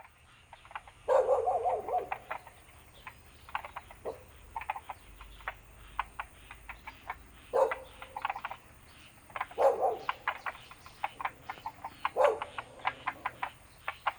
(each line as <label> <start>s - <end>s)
Bird sounds 0.0s - 14.1s
Frogs chirping 0.0s - 14.1s
Dogs barking 1.1s - 2.6s
Dogs barking 3.9s - 4.7s
Dogs barking 7.4s - 8.6s
Dogs barking 9.4s - 13.6s